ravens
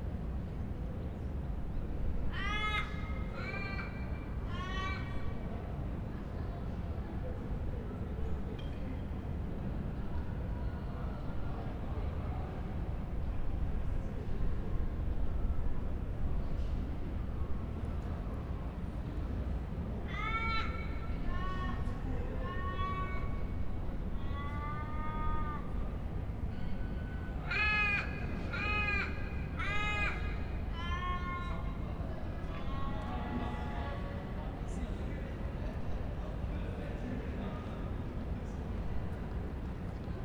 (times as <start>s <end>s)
27.4s 31.8s